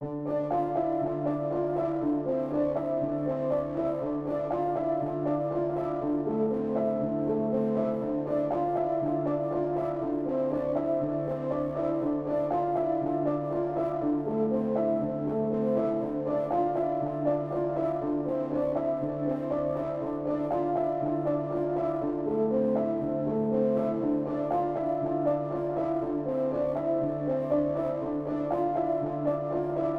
0.0s piano 29.9s

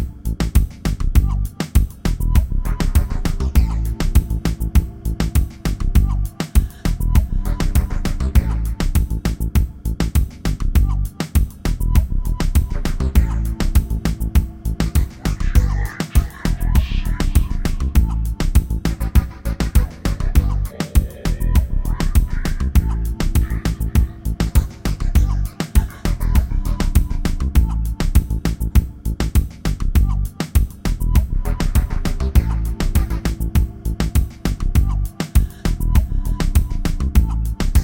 0.0s music 37.8s

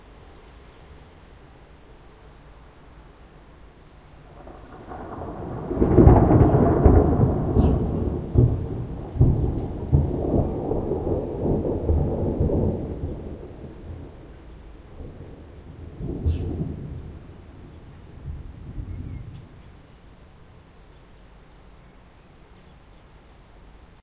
0.0s rain 24.0s
4.3s thunderclaps 19.8s

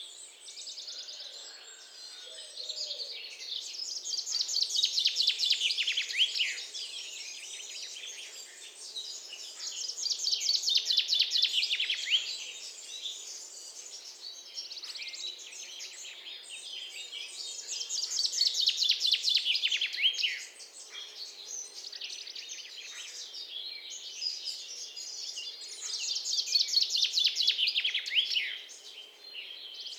0.0s birdsong 29.9s

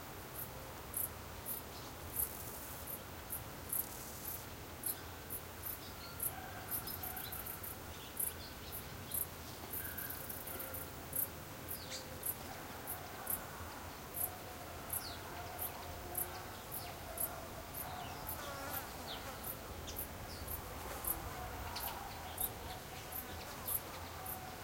0.0s steady light wind 24.6s
0.3s crickets 24.6s
0.4s flies 24.6s
6.1s distant rooster 7.8s
11.7s birds 24.6s
12.4s distant rooster 18.6s
20.6s distant German voices 24.6s

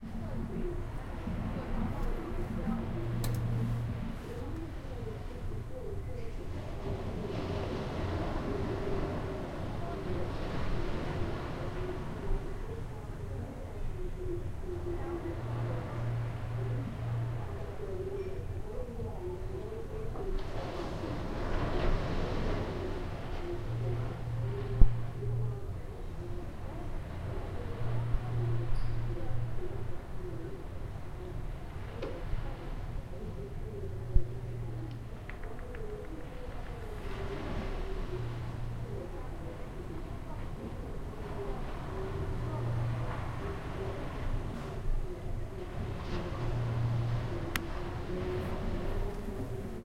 6.5s sea waves 18.1s
20.3s sea waves 35.3s
36.0s sea waves 49.8s

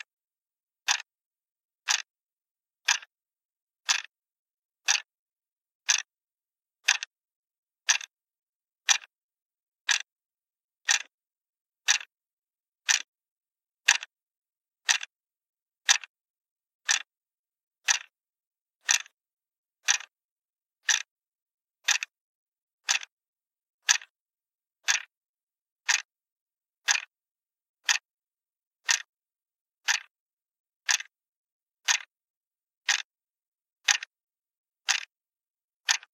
0.8s plastic alarm clock clicking 1.1s
1.8s plastic alarm clock clicking 2.1s
2.8s plastic alarm clock clicking 3.1s
3.8s plastic alarm clock clicking 4.2s
4.8s plastic alarm clock clicking 5.1s
5.8s plastic alarm clock clicking 6.1s
6.8s plastic alarm clock clicking 7.2s
7.8s plastic alarm clock clicking 8.2s
8.8s plastic alarm clock clicking 9.1s
9.8s plastic alarm clock clicking 10.1s
10.8s plastic alarm clock clicking 11.2s
11.8s plastic alarm clock clicking 12.1s
12.8s plastic alarm clock clicking 13.1s
13.8s plastic alarm clock clicking 14.1s
14.8s plastic alarm clock clicking 15.2s
15.8s plastic alarm clock clicking 16.2s
16.8s plastic alarm clock clicking 17.1s
17.8s plastic alarm clock clicking 18.2s
18.8s plastic alarm clock clicking 19.2s
19.8s plastic alarm clock clicking 20.2s
20.8s plastic alarm clock clicking 21.2s
21.8s plastic alarm clock clicking 22.2s
22.8s plastic alarm clock clicking 23.2s
23.8s plastic alarm clock clicking 24.2s
24.8s plastic alarm clock clicking 25.2s
25.8s plastic alarm clock clicking 26.1s
26.8s plastic alarm clock clicking 27.1s
27.8s plastic alarm clock clicking 28.1s
28.8s plastic alarm clock clicking 29.2s
29.8s plastic alarm clock clicking 30.2s
30.8s plastic alarm clock clicking 31.2s
31.8s plastic alarm clock clicking 32.2s
32.8s plastic alarm clock clicking 33.2s
33.8s plastic alarm clock clicking 34.2s
34.8s plastic alarm clock clicking 35.2s
35.8s plastic alarm clock clicking 36.1s

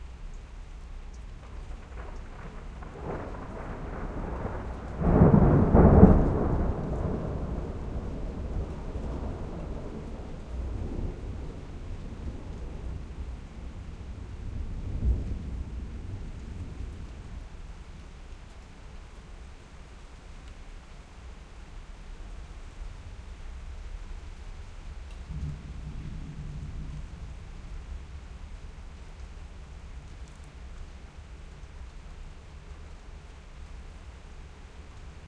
0.0s rain 35.2s
1.4s thunderclap 17.5s
25.3s thunderclap 30.1s

